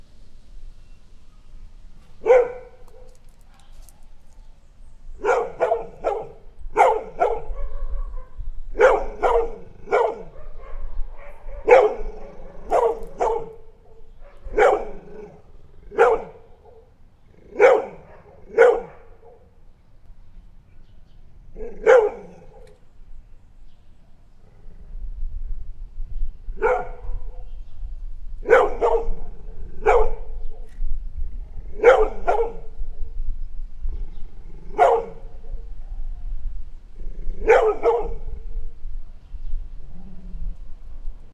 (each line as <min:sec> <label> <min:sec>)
0:02.2 barking 0:04.0
0:05.2 barking 0:19.4
0:21.5 barking 0:22.8
0:26.6 barking 0:27.4
0:28.4 barking 0:30.3
0:31.7 barking 0:32.7
0:34.7 barking 0:35.3
0:37.4 barking 0:38.2